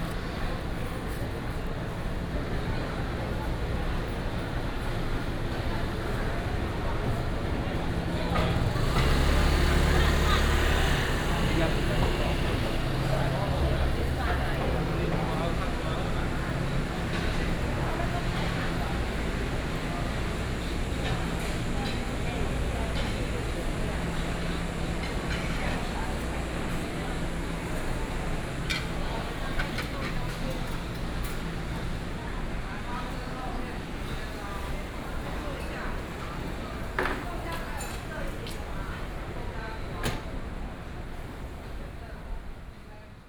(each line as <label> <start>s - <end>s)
Walking through the market 0.0s - 43.2s